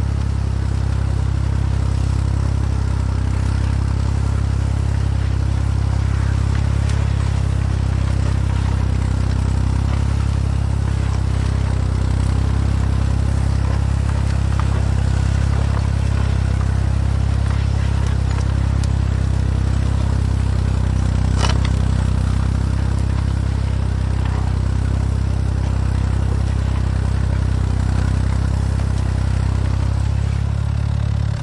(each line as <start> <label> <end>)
0.0 Old tractor ploughing on the field 31.4
0.0 Plough 31.4